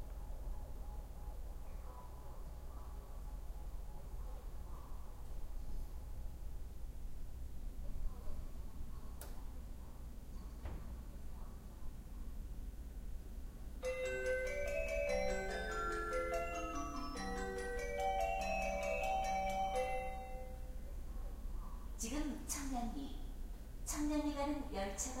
23.9s Speaker announcing metro coming in Korean and English 25.2s

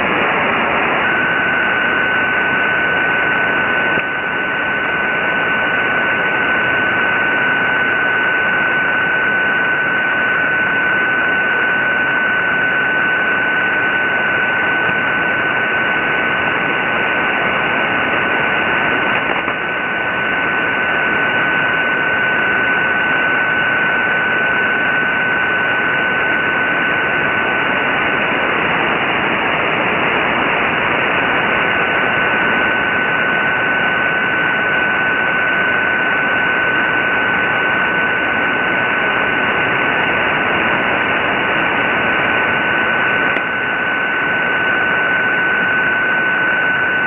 0.0s Very weak signal with lots of ionospheric fading 47.0s
0.0s static 47.0s

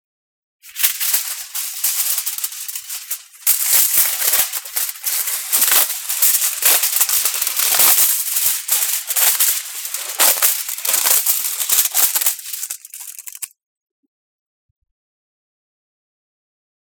0.6s Aluminum foil being torn from its roll 13.5s

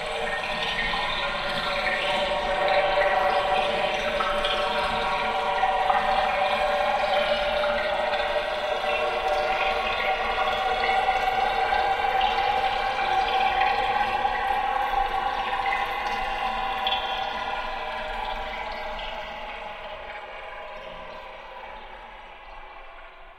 0.0s gurgle 23.3s

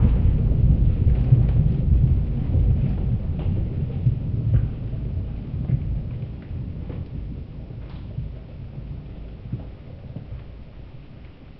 0.0s nuclear rain 11.5s

